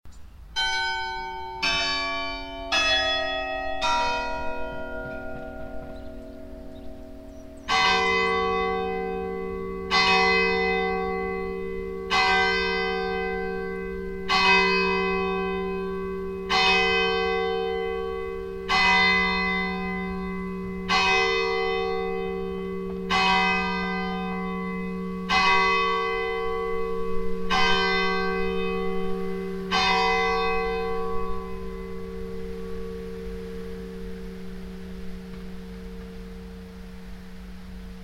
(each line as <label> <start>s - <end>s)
church bells 0.5s - 38.0s